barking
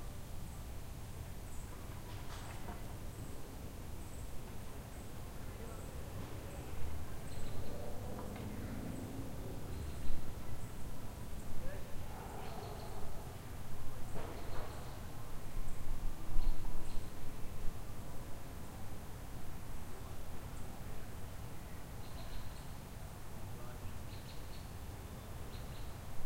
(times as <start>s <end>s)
12.1s 13.3s